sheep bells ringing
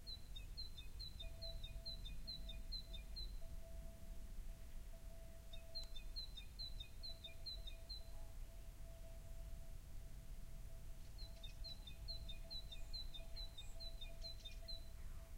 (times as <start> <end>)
11.9 15.0